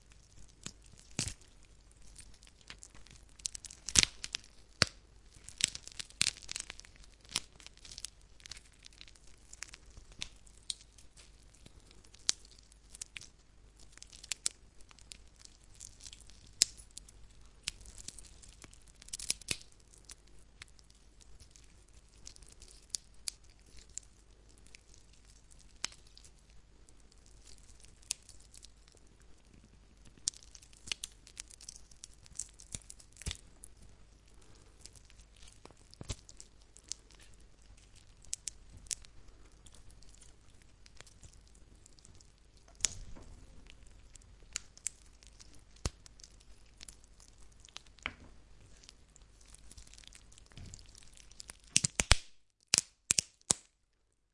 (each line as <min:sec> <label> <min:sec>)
0:00.0 tearing through the raw meat of a chicken 0:53.7
0:02.5 Chicken Bone Break 0:10.8
0:49.5 Chicken Bone Break 0:53.7